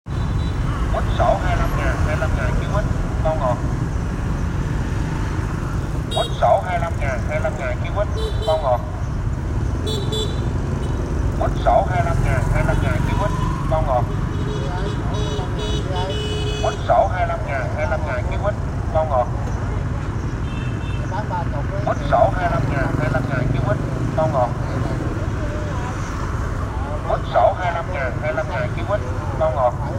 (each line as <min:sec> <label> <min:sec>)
0:06.2 Man sell orange fruit say 0:08.9
0:11.4 Man sell orange fruit say 0:19.8
0:21.2 Man sell orange fruit say 0:26.0